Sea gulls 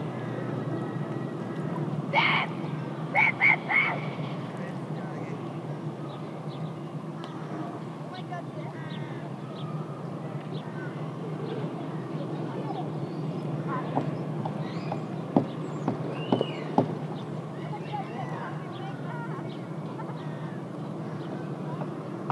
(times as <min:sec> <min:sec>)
0:00.1 0:04.2, 0:17.5 0:22.3